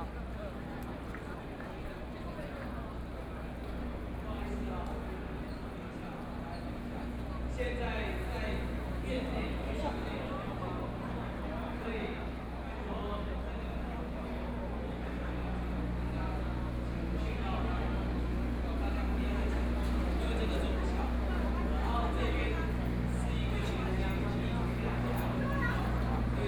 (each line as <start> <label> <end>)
0.0 People and students 26.4